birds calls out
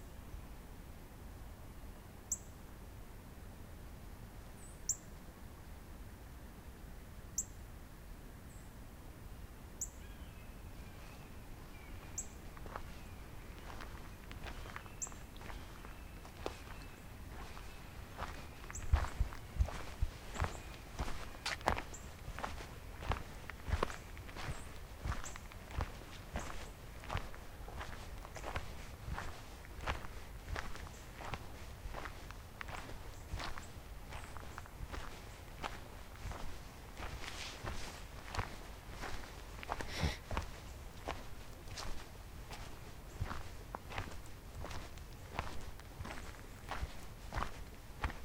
9.8s 42.0s

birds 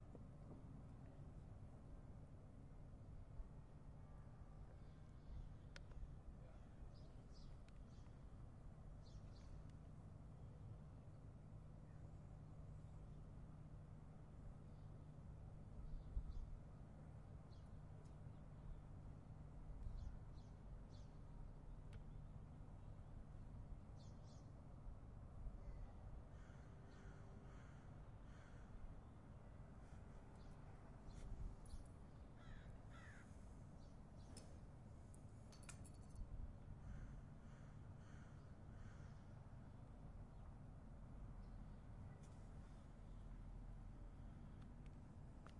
4.7s 10.2s, 14.6s 22.2s, 23.7s 24.8s, 25.5s 40.7s

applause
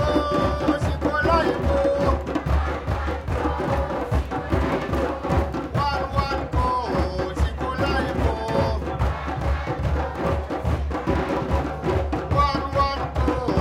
2.1s 5.0s

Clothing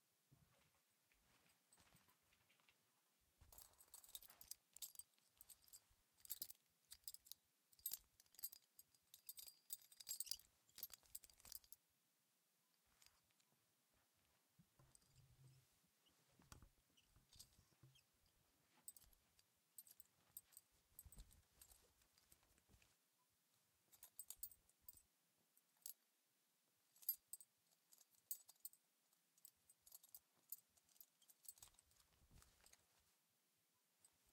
3.4s 11.8s, 12.8s 23.2s, 29.8s 33.2s

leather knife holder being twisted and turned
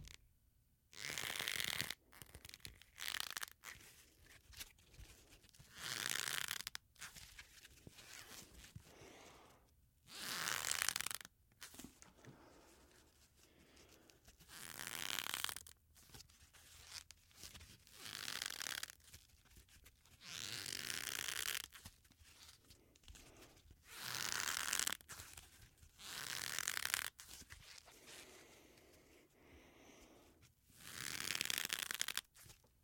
1.0s 3.8s, 5.6s 8.7s, 10.2s 12.2s, 14.4s 19.0s, 19.6s 21.9s, 24.0s 28.0s, 30.8s 32.7s

